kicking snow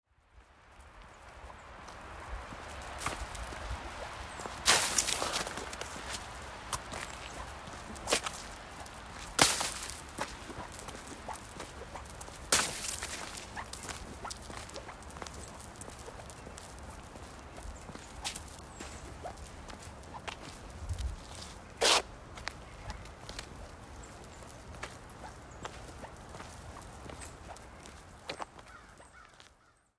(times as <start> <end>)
2.6 16.5